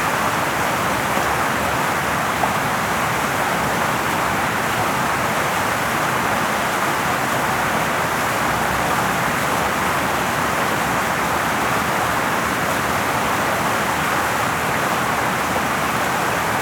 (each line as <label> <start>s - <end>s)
small waterfall 0.0s - 16.6s